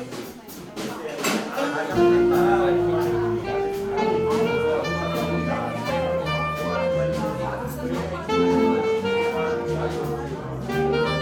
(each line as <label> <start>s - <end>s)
cooljazz concert 0.0s - 1.2s
cooljazz concert 1.9s - 11.2s